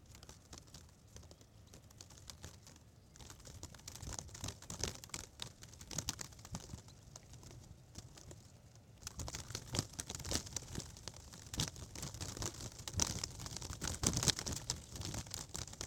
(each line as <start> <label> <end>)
0.0 plastic protective tape playing in the wind 15.8